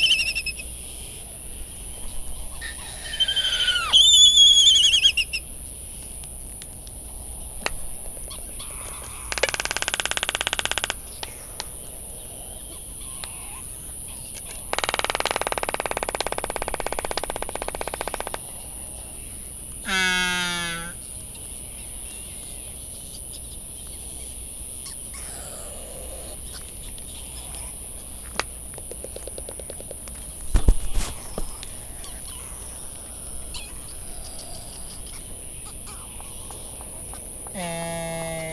white tern calls 0.0 - 0.6
bonin calls and flight calls 0.0 - 1.0
background noise from generators 0.0 - 38.5
bonin calls and flight calls 2.0 - 5.4
white tern calls 2.4 - 5.4
laysan calls and bill clapperings 7.6 - 11.8
laysan calls and bill clapperings 14.3 - 18.5
laysan calls and bill clapperings 26.4 - 38.5
bonin calls and flight calls 31.0 - 38.5

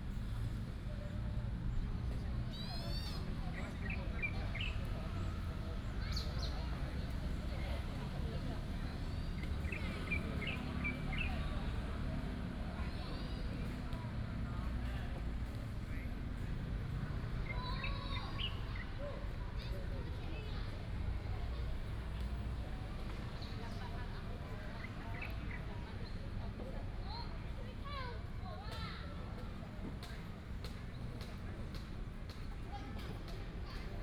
Traffic sound 0.0 - 34.0
birds sound 9.0 - 11.6
birds sound 17.2 - 19.0

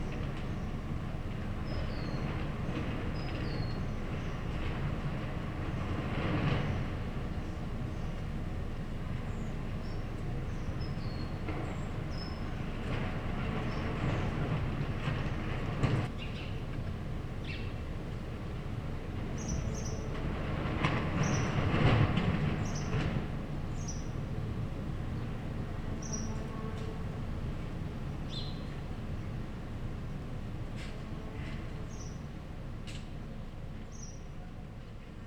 wind 0.0 - 35.2
construction site 0.0 - 35.2

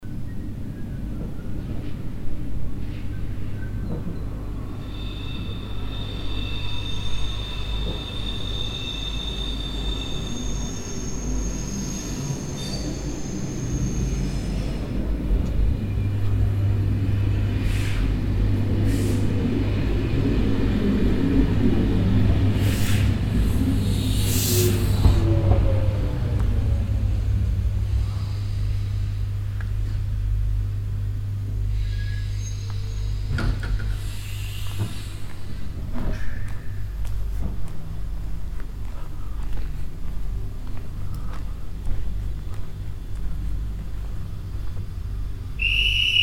deep grounding sound as the regional train arrives 0.0 - 46.2
train leaves the station 0.0 - 46.2
Doors open 3.6 - 28.4
whistle of the train guard 4.8 - 13.9
pneumatic air as the doors close 17.6 - 18.2
pneumatic air as the doors close 22.6 - 25.3
pneumatic air as the doors close 31.7 - 35.6
Doors open 32.1 - 37.7
whistle of the train guard 45.6 - 46.2

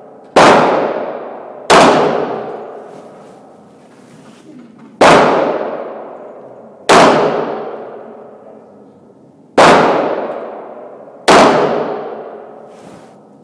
Various handguns being shot 0.2 - 2.8
Various handguns being shot 5.0 - 8.0
Various handguns being shot 9.6 - 12.6

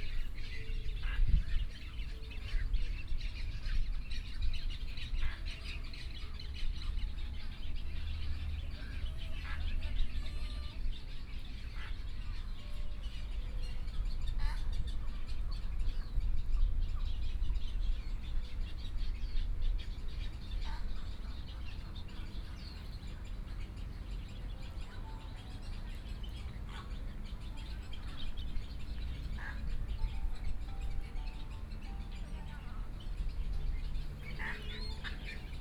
Birdsong 0.0 - 35.6
White egrets 19.8 - 35.6

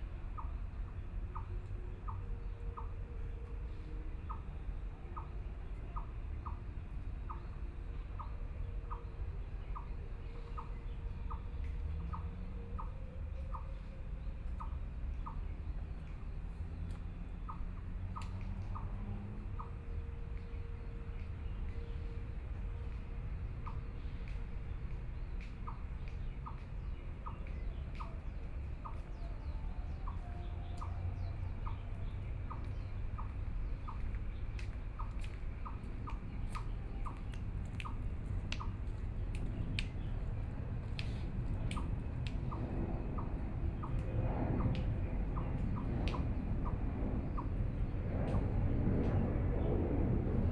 Aircraft flying through 33.0 - 50.5

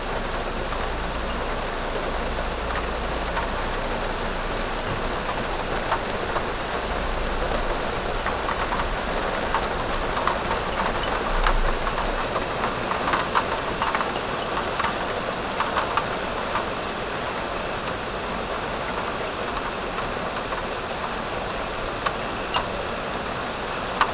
rain 0.0 - 24.1
tea plates 7.8 - 17.7

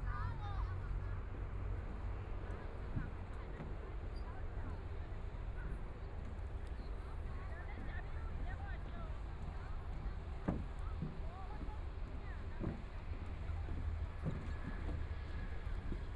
Walking through the park 0.0 - 16.1

